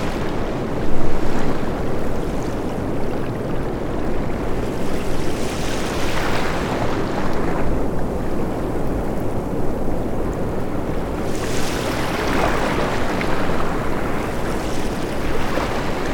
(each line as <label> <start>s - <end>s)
Ocean waves 0.0s - 16.1s